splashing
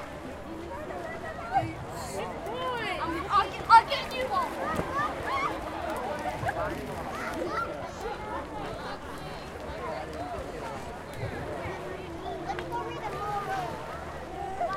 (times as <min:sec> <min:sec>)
0:01.4 0:08.4